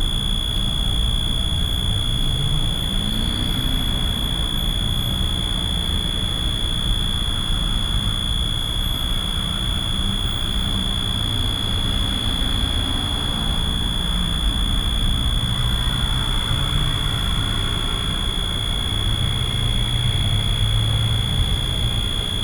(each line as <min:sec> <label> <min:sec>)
0:10.6 Road traffic 0:22.4